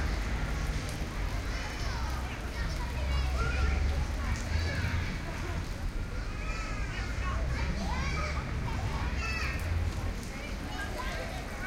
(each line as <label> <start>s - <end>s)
Cars passing by 0.0s - 11.6s
distant water fall 0.0s - 11.6s
voices 0.0s - 11.6s
kids playing 1.3s - 11.6s